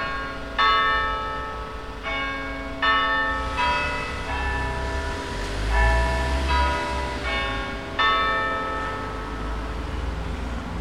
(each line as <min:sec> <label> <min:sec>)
0:00.0 bells 0:10.8